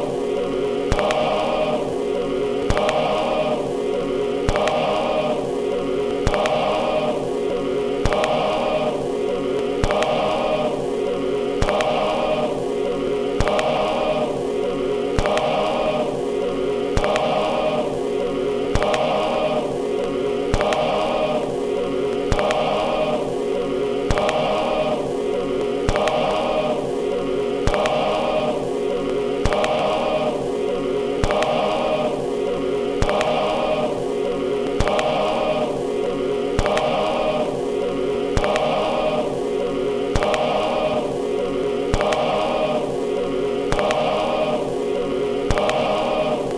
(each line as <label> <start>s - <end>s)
Record noise 0.0s - 46.5s